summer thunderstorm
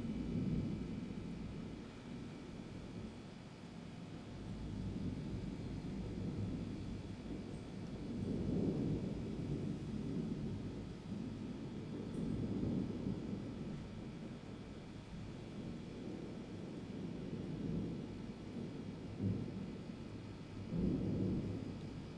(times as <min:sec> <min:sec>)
0:04.5 0:14.2, 0:15.6 0:22.1